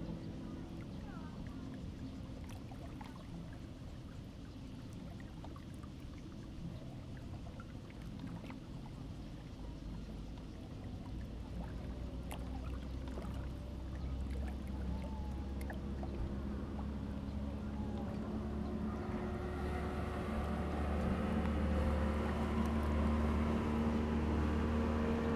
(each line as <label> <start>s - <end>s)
yachts on the lake 0.0s - 25.3s
Lake Sound 10.9s - 25.3s